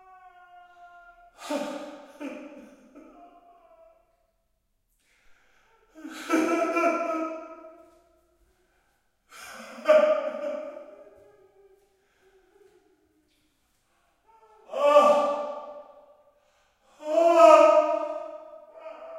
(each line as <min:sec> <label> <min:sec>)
0:01.4 men crying in pain 0:03.8
0:06.0 men crying in pain 0:07.6
0:09.4 men crying in pain 0:11.4
0:14.6 men crying in pain 0:15.8
0:17.0 men crying in pain 0:19.1